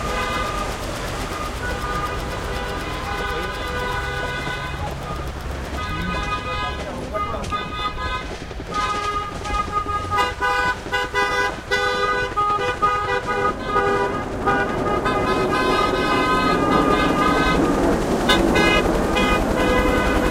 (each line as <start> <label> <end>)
0.0 cars 20.3
0.0 motorcycles 20.3
0.0 trucks 20.3